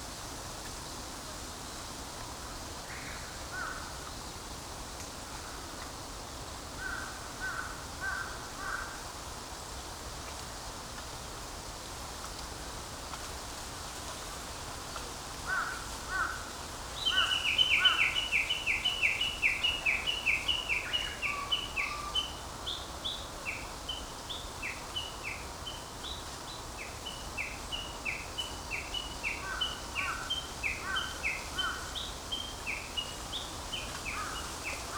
crows 0:15.5 - 0:16.5
Japanese bush warbler 0:15.6 - 0:34.9

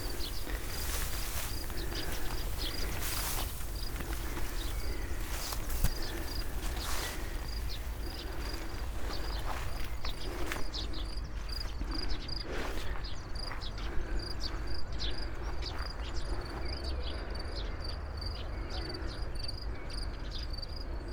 uphill walk through high grass 0:00.0 - 0:16.7
breathing 0:00.0 - 0:21.1

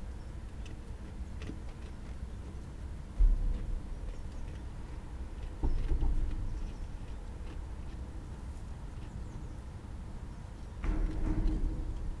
sheep (rams) horns' clanging on their feeding trough 0:10.8 - 0:12.2

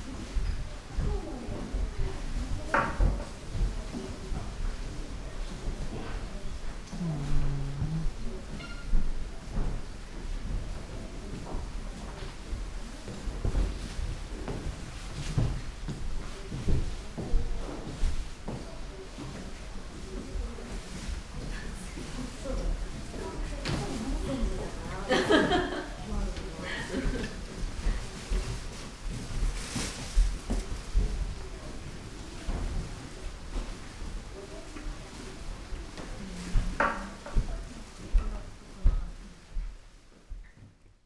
murmur of people 0:00.0 - 0:40.0
steps 0:00.0 - 0:40.8
distorted microphones connection 0:06.8 - 0:09.2

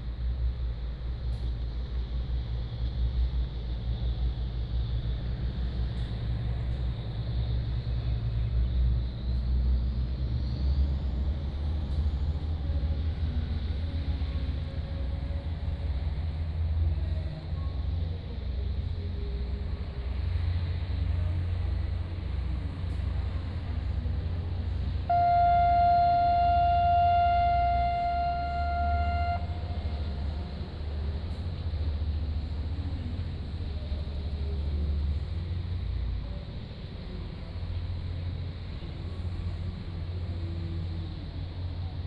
Distant ship's whistle 0:25.0 - 0:31.4

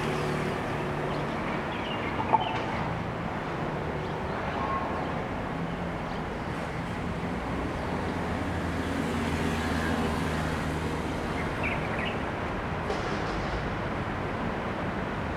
construction site 0:00.0 - 0:04.3
Traffic Sound 0:00.0 - 0:15.3
construction site 0:06.2 - 0:15.3

